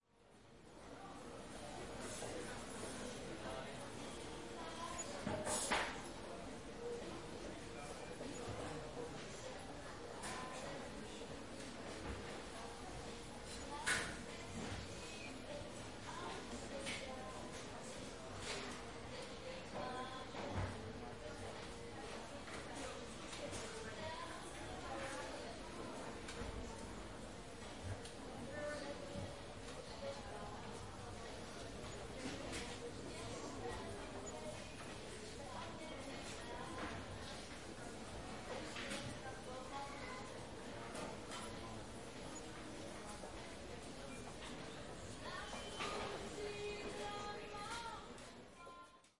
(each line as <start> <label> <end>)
0.9 people 49.1